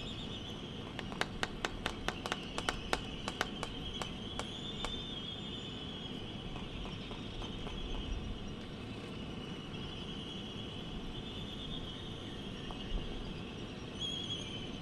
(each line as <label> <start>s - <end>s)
laysan albatross dancing 0.8s - 5.0s
laysan albatross dancing 6.3s - 8.3s